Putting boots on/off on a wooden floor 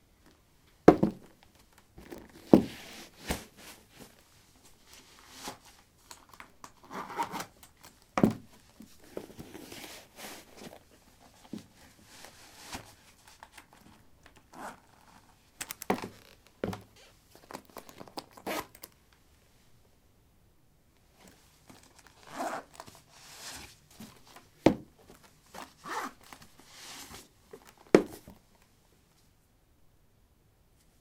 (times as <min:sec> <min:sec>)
0:15.8 0:16.9